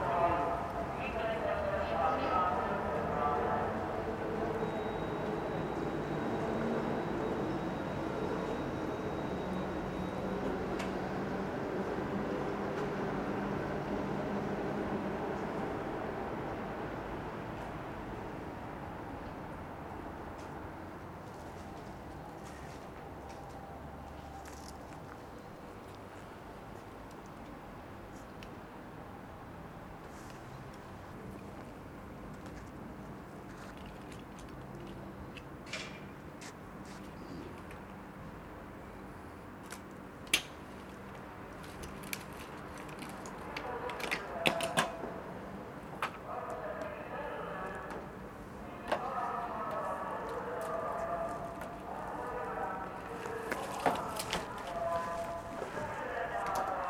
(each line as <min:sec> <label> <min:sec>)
0:46.2 mobile megaphone amplified fruit vendour 0:56.8